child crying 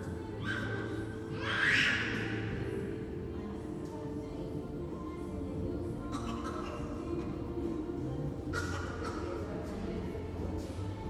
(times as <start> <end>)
1.3 2.1